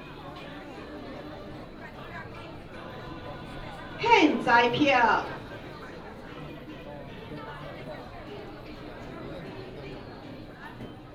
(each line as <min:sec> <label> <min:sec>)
0:02.7 Temple ceremony 0:07.1